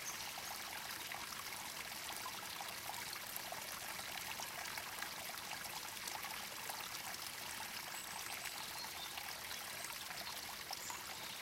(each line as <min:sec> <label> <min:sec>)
0:00.0 small forest stream 0:11.4